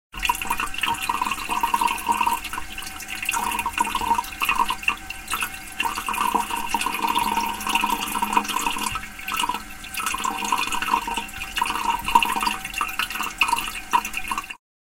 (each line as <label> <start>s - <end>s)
water in wc or piss 0.1s - 14.6s